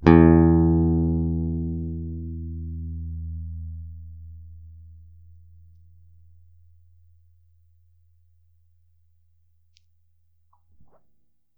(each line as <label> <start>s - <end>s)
Bass Guitar Picked 0.0s - 9.8s